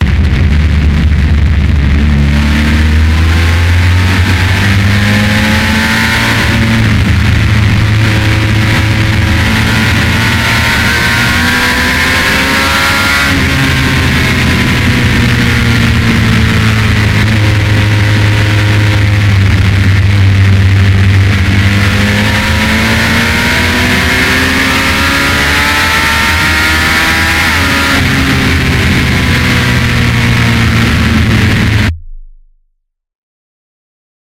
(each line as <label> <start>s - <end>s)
motorcycle 0.0s - 32.1s